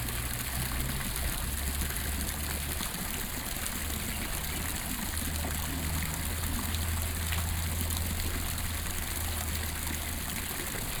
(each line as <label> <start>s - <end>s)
water 0.0s - 11.0s